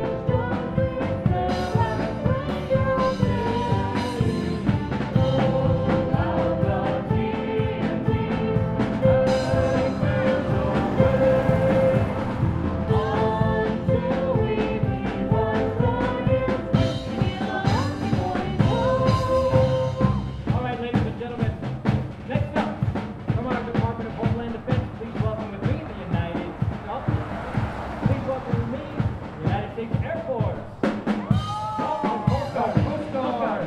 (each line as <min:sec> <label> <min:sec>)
0:16.8 Young Marines practicing for parade 0:27.0
0:28.4 Young Marines practicing for parade 0:33.6